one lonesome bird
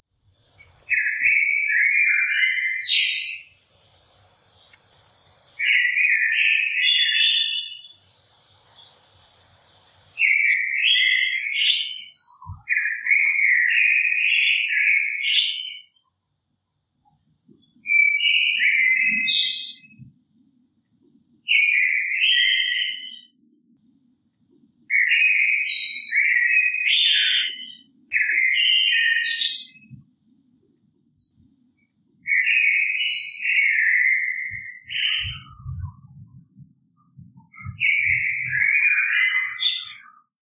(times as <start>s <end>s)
0.0s 16.1s, 24.2s 40.4s